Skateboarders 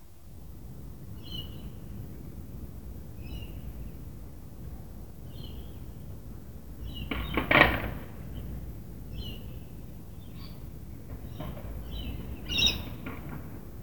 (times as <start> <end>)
7.1 8.6